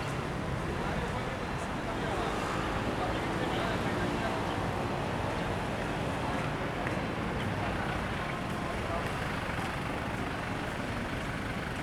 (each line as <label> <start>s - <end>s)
Traffic Noise 0.0s - 11.8s